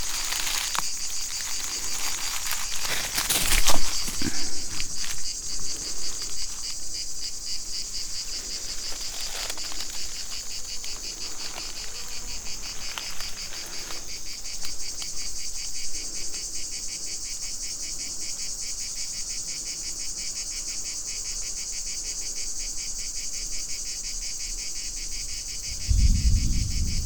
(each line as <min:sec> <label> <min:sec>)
0:00.0 dry leaves 0:16.3
0:00.0 cicadas 0:27.0
0:25.6 distant thunder 0:27.0